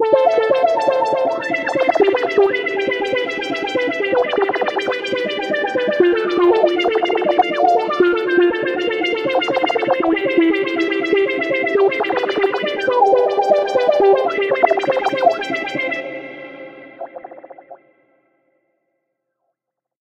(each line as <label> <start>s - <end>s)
arpeggio 0.0s - 17.8s